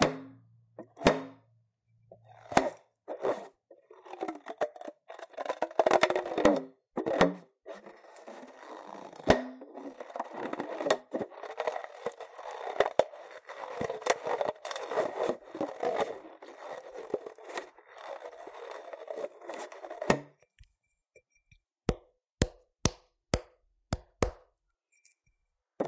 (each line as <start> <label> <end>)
0.0 Baloon DIY Drum 1.5